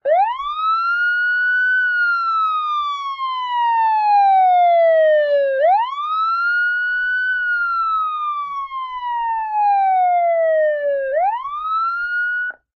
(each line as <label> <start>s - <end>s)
Police Car Siren 0.0s - 12.7s